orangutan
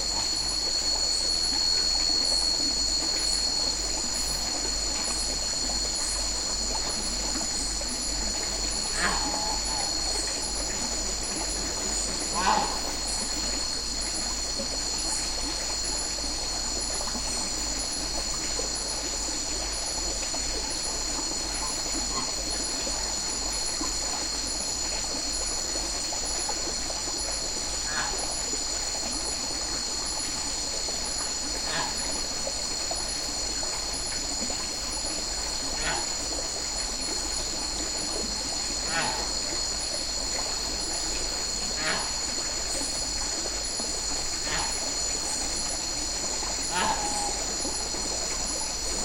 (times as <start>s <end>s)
5.3s 18.8s, 27.7s 28.6s, 35.6s 49.0s